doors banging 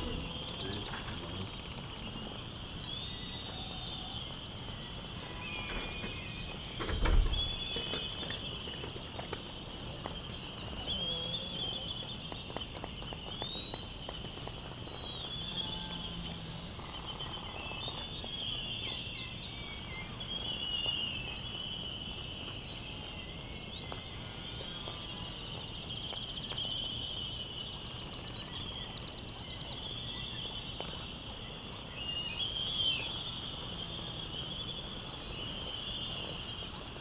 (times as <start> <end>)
6.8 7.9